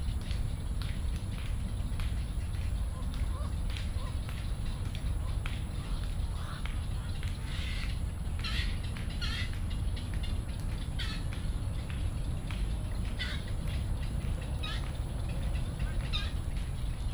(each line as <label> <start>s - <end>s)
Environmental Traffic Sound 0.0s - 17.1s
clapping motion 0.2s - 16.8s
Bird calls 2.0s - 17.1s